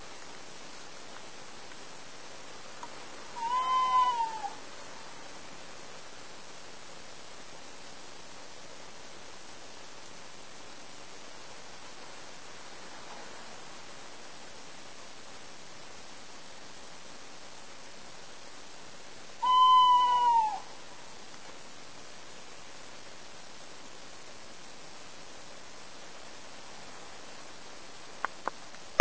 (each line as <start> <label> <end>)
3.3 short hoots from a tawny owl 4.6
19.4 short hoots from a tawny owl 20.9